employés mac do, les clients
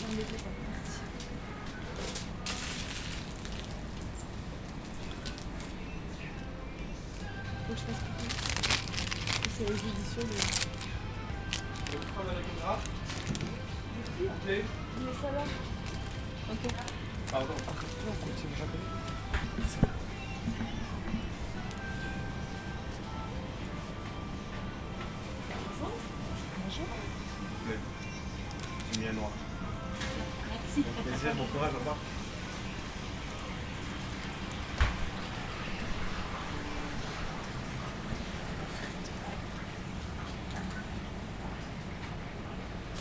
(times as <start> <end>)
0.0 32.3